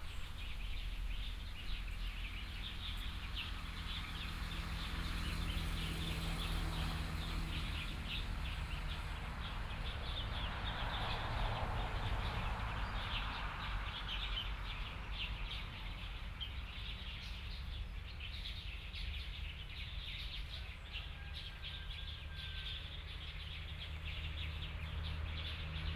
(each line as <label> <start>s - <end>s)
Birds 0.0s - 6.6s
Traffic Sound 0.0s - 18.2s
Birds 12.2s - 25.9s
Traffic Sound 21.2s - 25.9s